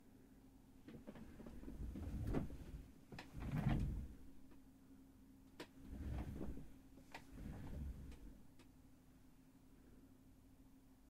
3.3s chair that's pushed backwards 4.1s
5.8s chair that's pushed backwards 8.2s

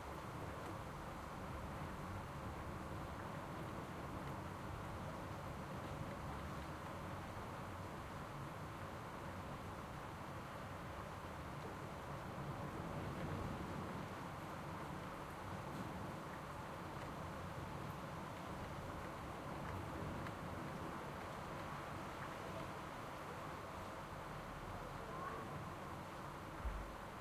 11.6s heavy rain decreasing 27.2s

